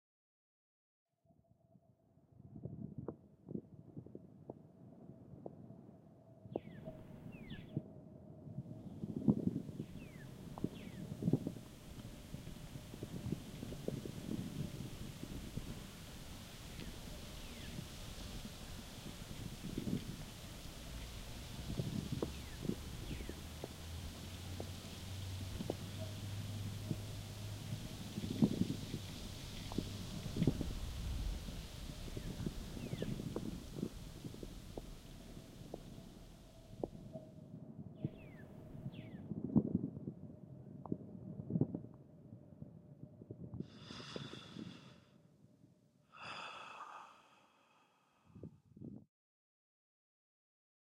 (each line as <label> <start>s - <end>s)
calm winds 1.3s - 49.0s
birds chirping 6.5s - 7.8s
birds chirping 8.9s - 14.0s
birds chirping 14.9s - 26.1s
birds chirping 27.9s - 36.8s
birds chirping 38.0s - 39.2s
calming exhale made y a young man 43.6s - 45.1s
calming exhale made y a young man 46.2s - 48.2s